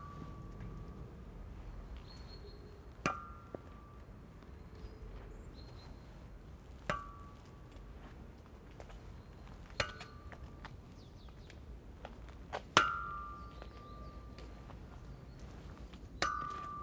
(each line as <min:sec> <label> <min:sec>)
0:00.0 bike stands are all metal that ring beautifully when hit by hand 0:01.0
0:03.0 bike stands are all metal that ring beautifully when hit by hand 0:04.1
0:06.8 bike stands are all metal that ring beautifully when hit by hand 0:07.9
0:09.6 bike stands are all metal that ring beautifully when hit by hand 0:10.8
0:12.5 bike stands are all metal that ring beautifully when hit by hand 0:16.8